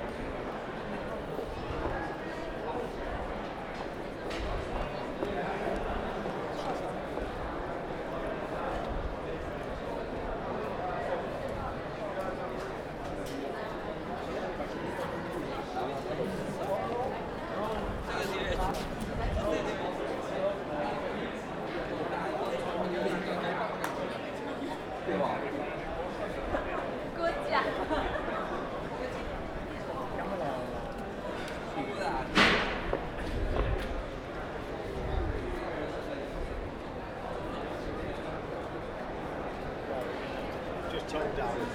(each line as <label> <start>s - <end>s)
Steps 16.6s - 19.4s
English and Asian voices 22.1s - 32.3s
something falls off the table 32.3s - 32.9s